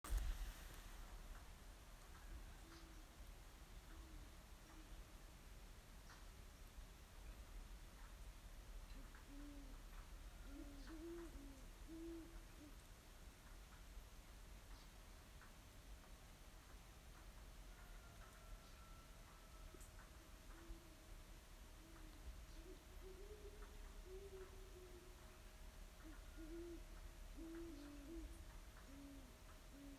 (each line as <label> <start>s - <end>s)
light rain 0.0s - 29.9s
rooster 17.7s - 19.8s